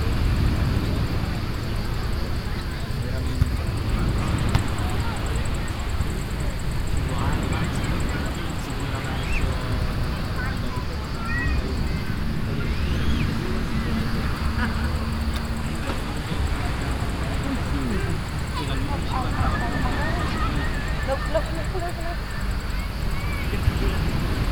0.0s people 24.5s
0.0s traffic passing by 24.5s
2.9s ball games 7.4s
13.9s ball games 22.6s

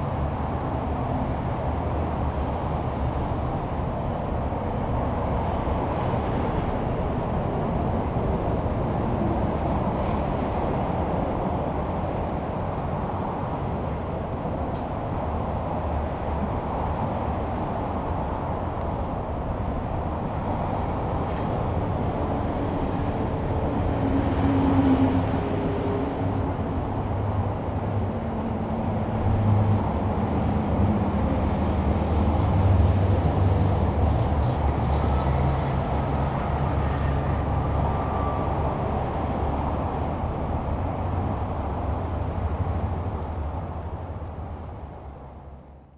0.0s traffic sound 45.9s

